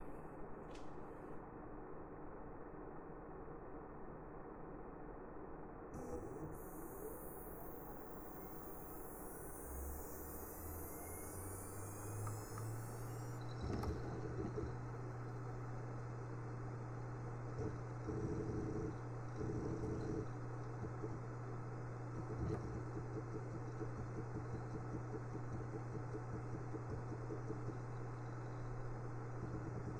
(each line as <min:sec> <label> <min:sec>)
0:06.0 4 Disk Storage Drive Wake up And Write 0:29.9
0:06.9 twin fans are running 0:29.9